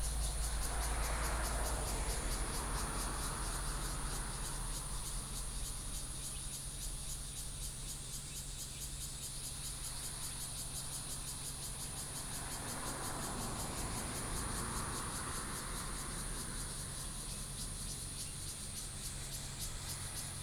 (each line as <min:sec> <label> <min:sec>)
0:00.0 Traffic Sound 0:05.9
0:00.0 Cicadas sound 0:20.4
0:12.0 Traffic Sound 0:20.4